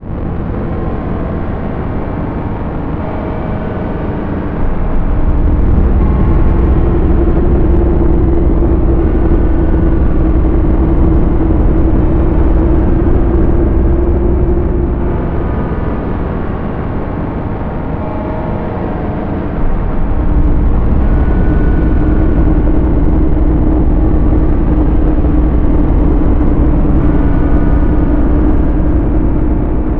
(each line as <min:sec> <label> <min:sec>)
0:00.0 metallic Drone 0:29.9